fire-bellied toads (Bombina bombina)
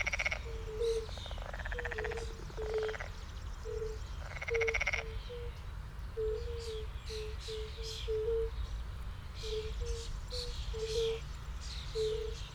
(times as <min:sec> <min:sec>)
0:00.0 0:03.1